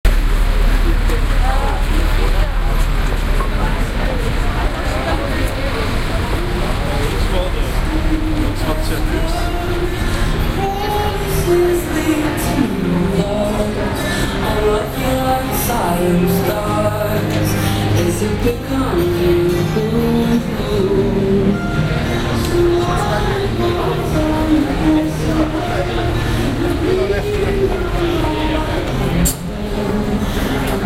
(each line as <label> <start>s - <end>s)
crowds 0.0s - 30.8s